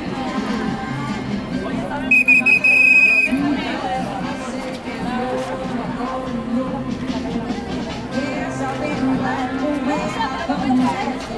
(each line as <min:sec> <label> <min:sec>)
0:02.0 tránsito 0:03.9